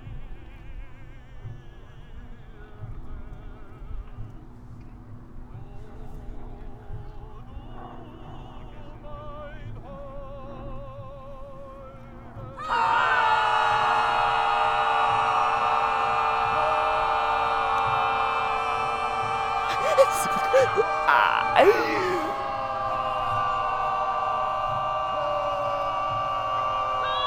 voices 19.4 - 27.2

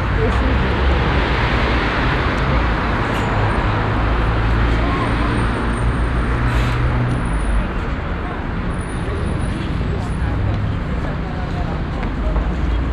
passengers walking and talking 0.0 - 12.9
passing by traffic 0.0 - 12.9

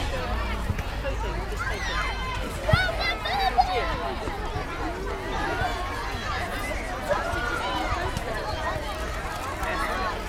Children in park 0.0 - 10.2

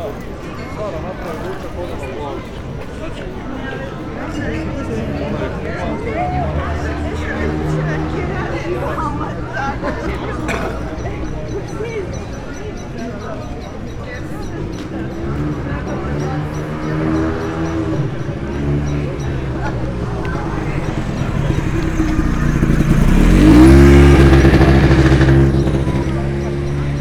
people chatting 0.0 - 27.0
moped 14.5 - 27.0

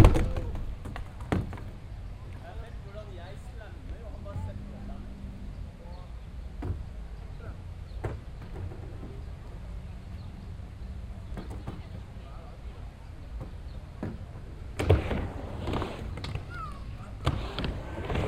skatebord 13.4 - 18.2

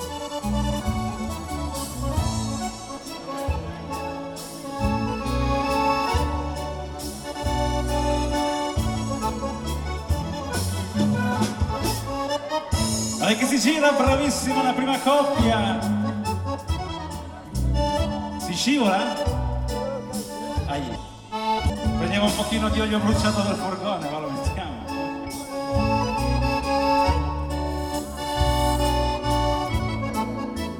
announcements 0.0 - 30.7
live music 0.0 - 30.7
people 0.0 - 30.7

